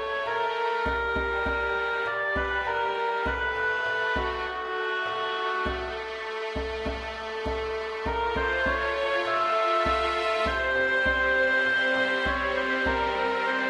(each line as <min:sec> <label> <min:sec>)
0:00.0 flute 0:13.6
0:00.0 strings 0:13.6